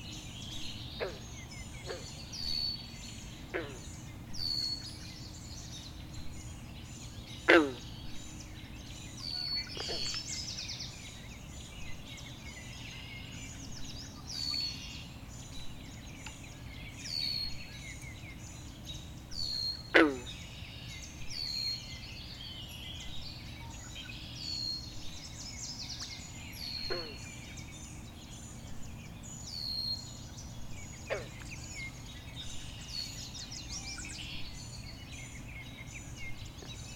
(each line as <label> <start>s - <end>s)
Frogs 0.0s - 36.9s
dawn chorus 0.0s - 36.9s